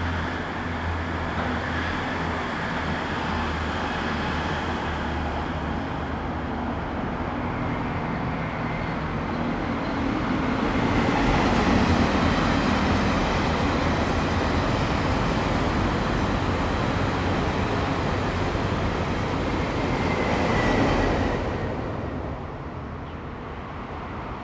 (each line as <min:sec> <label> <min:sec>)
0:00.0 The train runs through 0:24.4
0:00.0 Traffic sound 0:24.4